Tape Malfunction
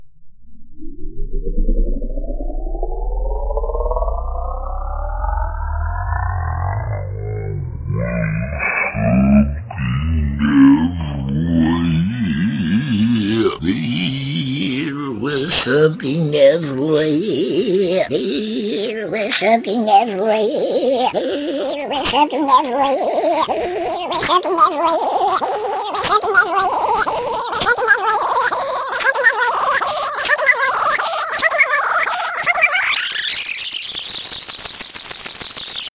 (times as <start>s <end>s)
31.8s 35.9s